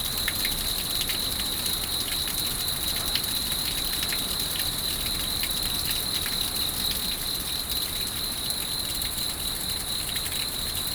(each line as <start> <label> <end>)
0.0 water 10.9